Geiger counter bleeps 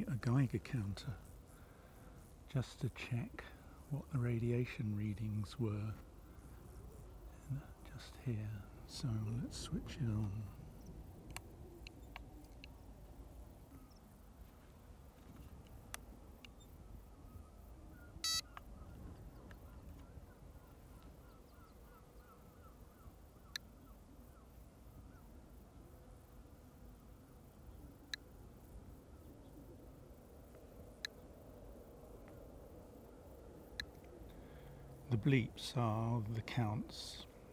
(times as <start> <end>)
18.2 18.6